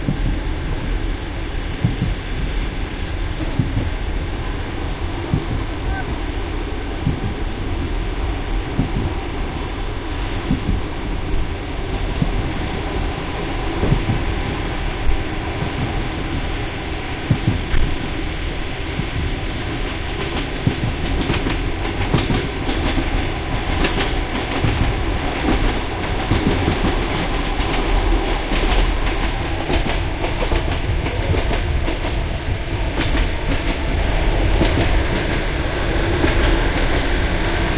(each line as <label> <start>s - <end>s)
typical klok-klok sound you can hear in trains 0.0s - 37.7s